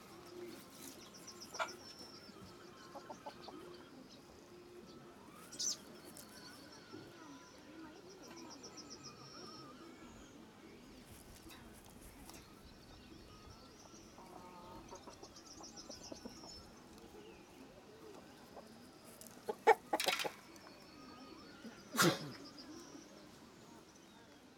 chickens 0:00.0 - 0:12.6
chickens 0:13.3 - 0:23.8

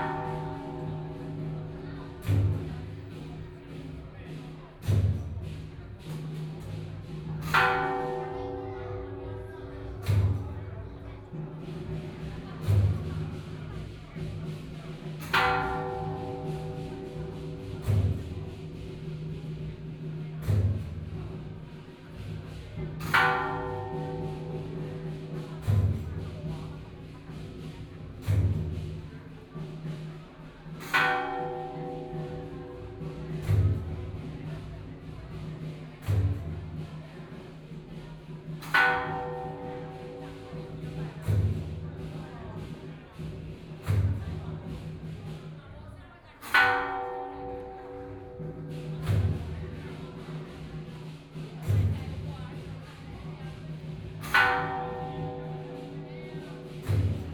bells 0:00.0 - 0:45.3
drums 0:00.0 - 0:57.3
bells 0:46.4 - 0:57.3

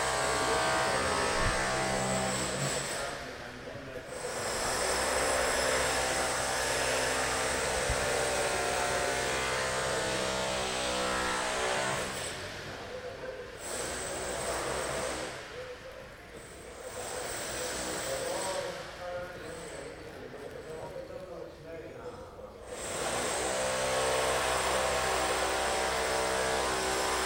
drill 0:00.0 - 0:03.3
People talking 0:00.3 - 0:04.9
drill 0:04.1 - 0:13.0
People talking 0:12.4 - 0:13.6
drill 0:13.6 - 0:15.7
People talking 0:14.2 - 0:22.7
drill 0:16.4 - 0:18.8
drill 0:22.7 - 0:27.2

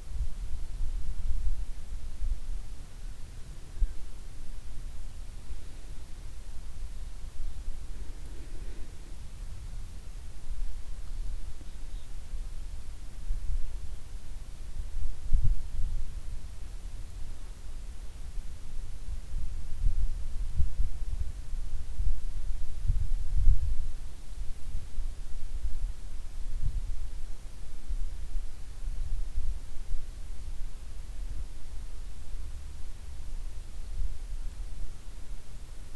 wind moves in the field 0:00.0 - 0:35.9

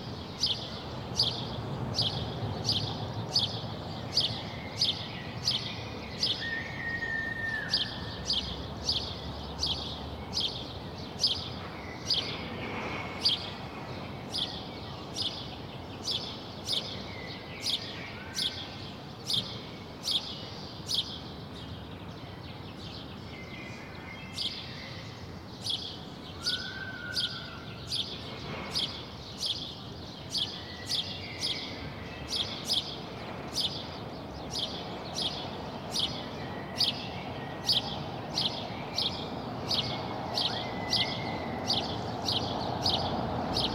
noise of cars 0:00.0 - 0:43.7

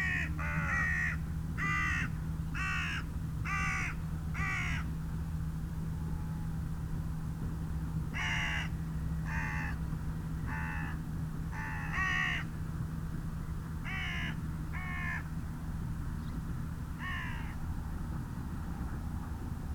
carrion crow 0:13.9 - 0:15.3
carrion crow 0:17.0 - 0:17.6

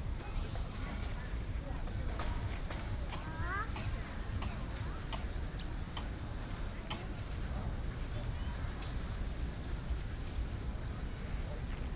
Many tourists 0:00.0 - 0:11.9

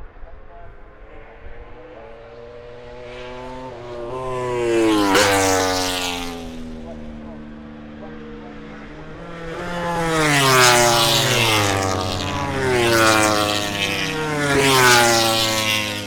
moto grand prix 0:00.0 - 0:16.0

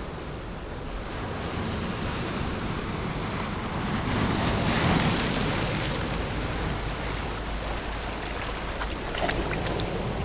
waves 0:00.0 - 0:10.2

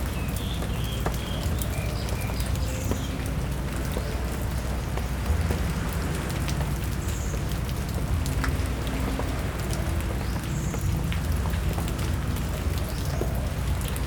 rain under big tree 0:00.0 - 0:14.0
ocean waves 0:03.0 - 0:12.5

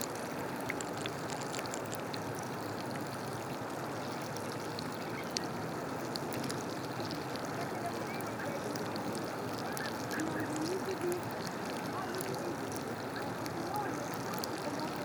winkles eating on the rocks 0:00.0 - 0:15.0

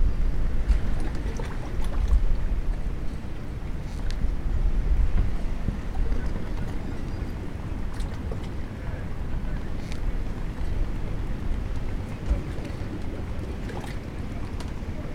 reverberating sound of the sea 0:00.0 - 0:15.1
wind 0:00.0 - 0:15.1

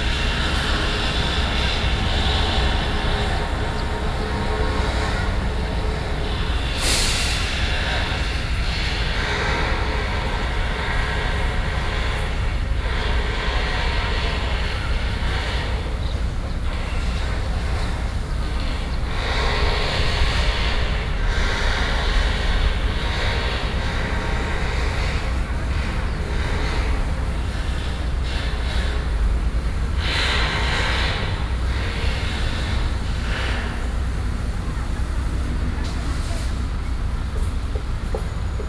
Construction site noise 0:00.0 - 0:38.6

